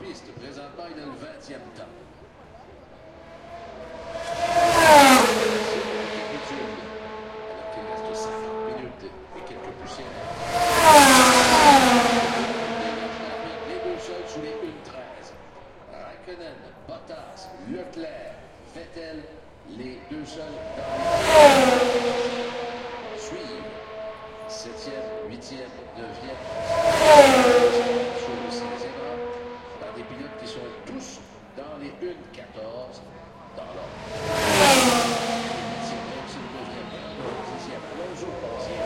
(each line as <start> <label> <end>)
1.6 Formula one 15.8
19.4 Formula one 38.8